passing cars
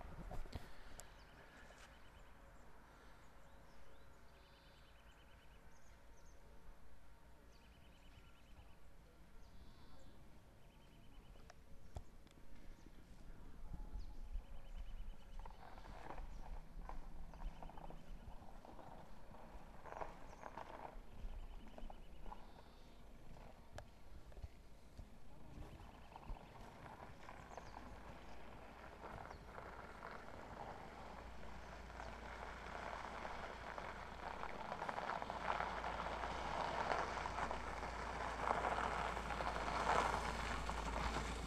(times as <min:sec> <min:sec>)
0:25.4 0:41.4